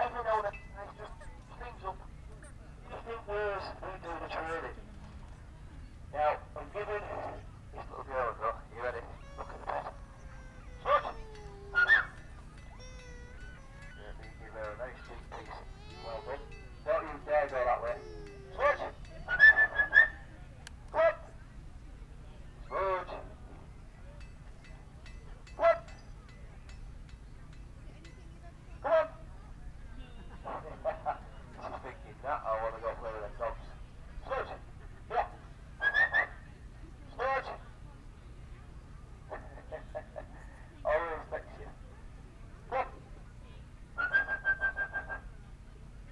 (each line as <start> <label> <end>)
6.2 falconer with radio mic through the PA system 20.2